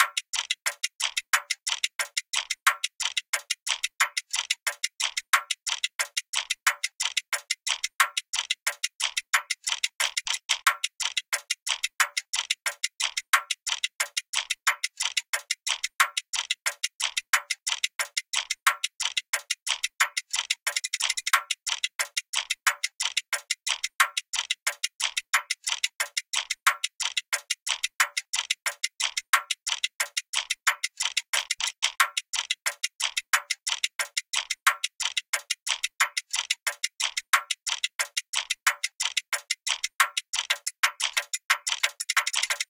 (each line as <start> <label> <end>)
0.0 tick tock 42.6